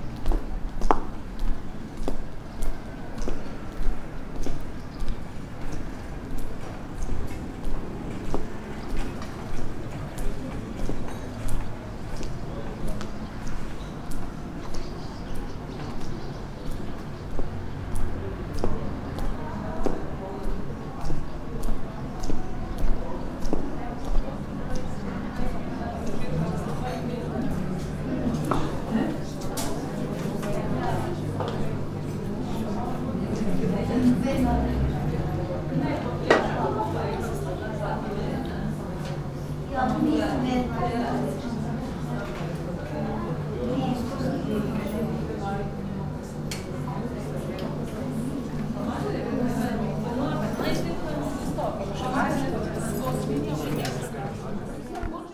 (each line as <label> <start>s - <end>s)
birds 8.7s - 19.4s